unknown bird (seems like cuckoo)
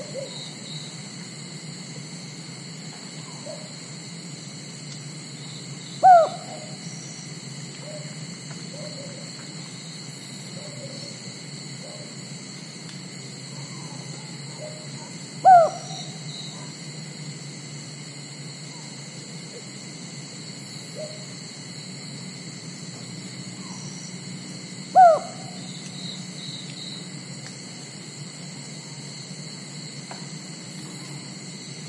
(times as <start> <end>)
6.0 6.8, 7.8 9.2, 10.6 11.1, 13.6 16.6, 24.9 25.7